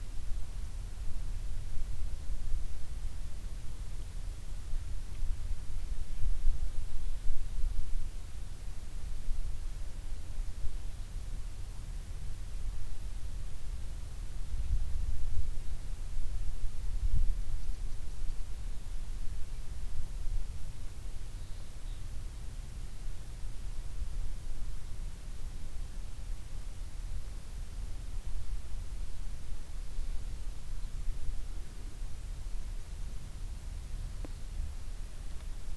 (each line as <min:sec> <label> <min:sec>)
0:00.0 wind moves in the field 0:35.7